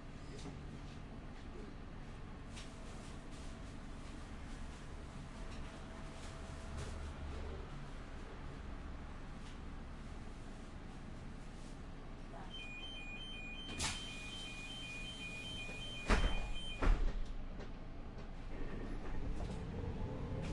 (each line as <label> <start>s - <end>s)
Inside a public bus 0.0s - 20.5s
distinct stop signal is triggered 12.6s - 16.9s